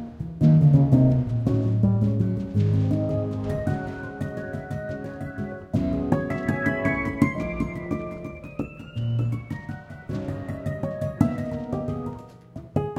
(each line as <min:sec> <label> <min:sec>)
0:00.0 Jazz Piano 0:12.9